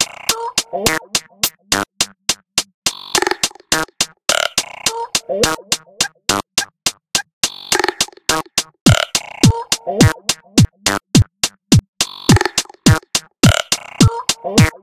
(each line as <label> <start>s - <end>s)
beat 0.0s - 14.8s